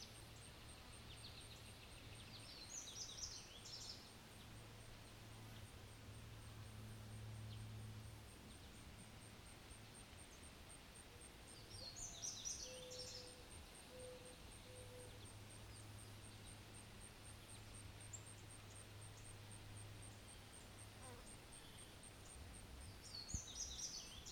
Birds 0:00.0 - 0:04.6
insects 0:00.0 - 0:24.3
Birds 0:09.6 - 0:24.3

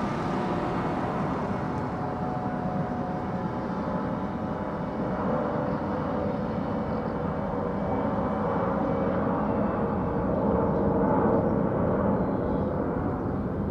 cars 0:00.0 - 0:05.1

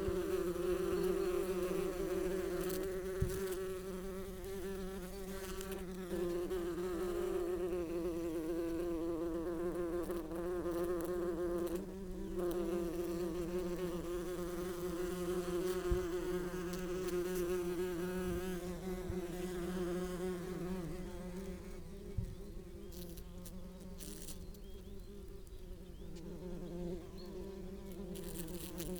Open bees nest 0:00.0 - 0:28.9
background noise 0:00.0 - 0:28.9

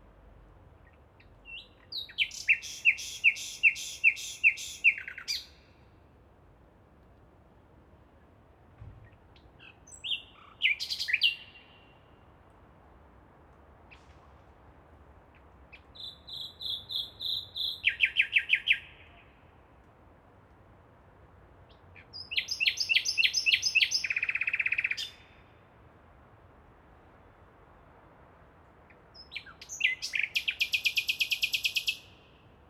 nightingale 0:00.8 - 0:05.9
nightingale 0:15.4 - 0:19.4
nightingale 0:21.7 - 0:25.4
nightingale 0:28.9 - 0:32.4

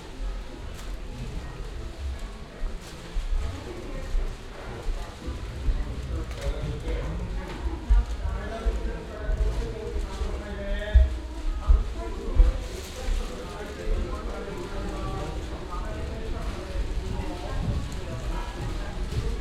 peoples bare feet on the wooden ground 0:00.0 - 0:19.4
plastic bags where they carry their shoes 0:00.0 - 0:19.4

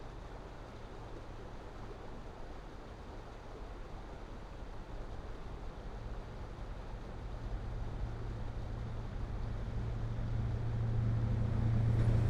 Passenger train 0:05.4 - 0:12.2
freight trains 0:06.8 - 0:12.2

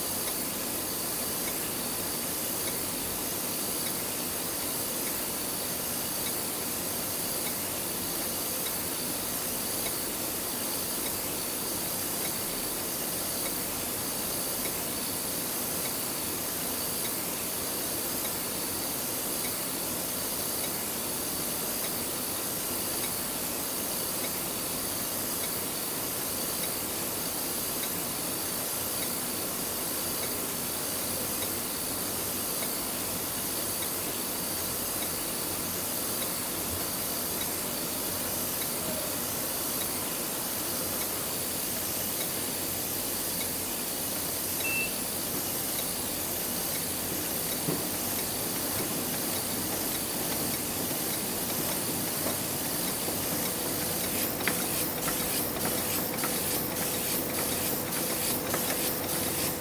covers being printed 0:47.6 - 0:59.6

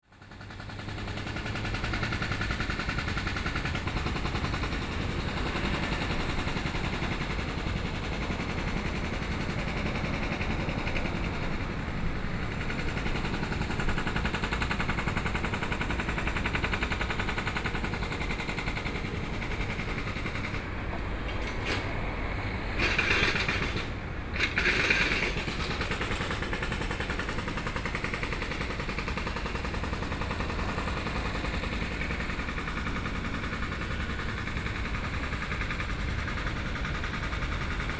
Road construction noise 0:00.0 - 0:37.9
Traffic Sound 0:00.1 - 0:37.9

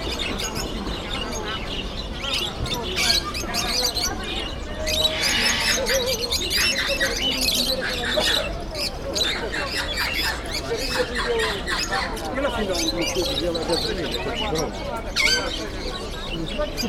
Bird market 0:00.0 - 0:16.8

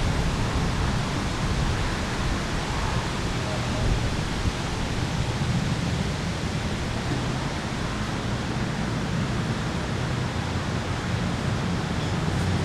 wind in the trees 0:00.0 - 0:12.6

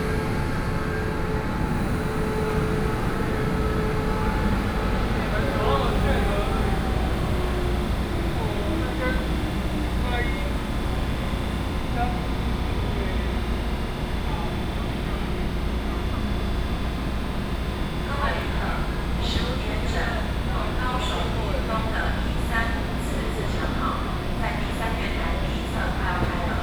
Train Arrival and Departure 0:00.0 - 0:26.6

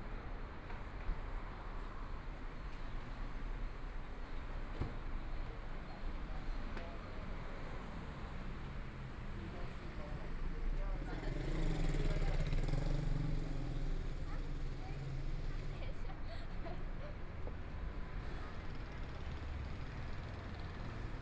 Pedestrian 0:00.0 - 0:21.2
Traffic Sound 0:00.0 - 0:21.2
Motorcycle sound 0:11.2 - 0:14.5

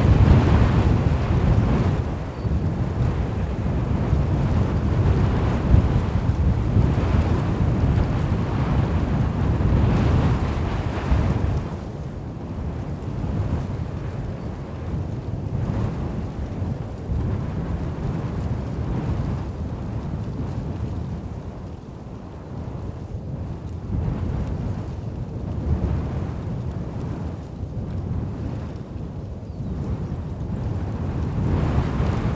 Wind blowing in a field 0:00.0 - 0:32.3

